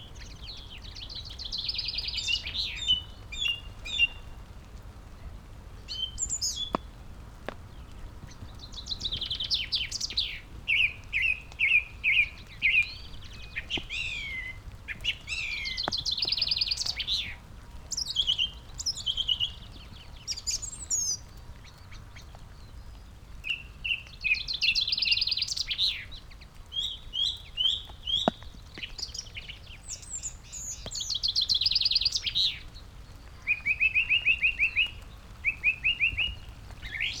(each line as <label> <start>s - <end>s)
pheasant 0.0s - 37.2s
rain 0.0s - 37.2s
red-legged partridge 0.0s - 37.2s
song thrush 0.0s - 37.2s
skylark 5.8s - 22.0s
great tit 11.6s - 17.4s